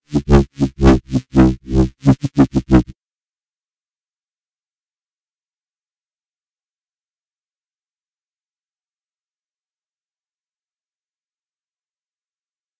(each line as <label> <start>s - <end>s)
bass sounds 0.1s - 2.9s